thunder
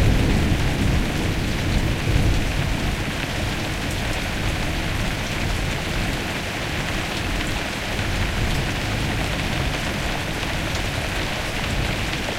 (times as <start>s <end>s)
0.0s 3.0s